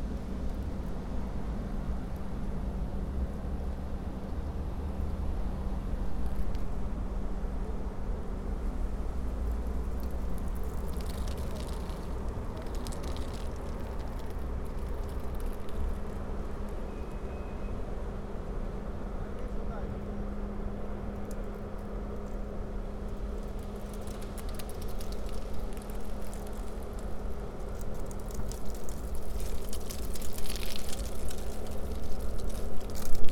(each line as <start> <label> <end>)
0.0 street 33.3
9.5 leaves 17.7
22.9 leaves 33.3